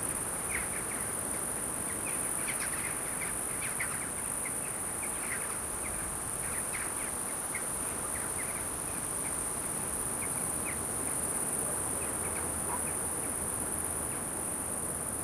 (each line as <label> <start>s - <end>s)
crickets 0.0s - 15.2s
wind 0.0s - 15.2s